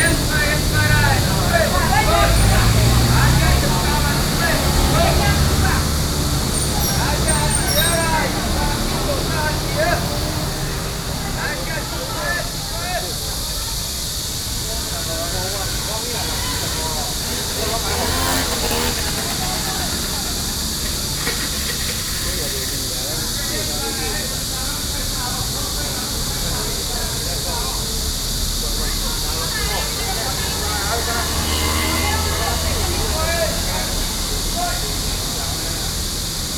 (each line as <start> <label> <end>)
0.0 Cicada sounds 36.5
0.0 Traffic Sound 36.5